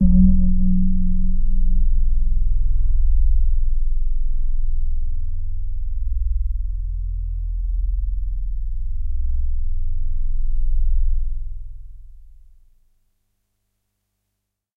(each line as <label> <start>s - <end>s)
initial bell sound 0.0s - 1.8s
soft pad 0.0s - 2.9s